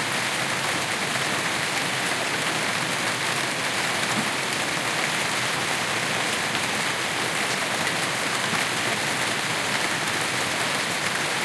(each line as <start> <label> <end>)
0.0 rain 11.4
0.0 wind 11.4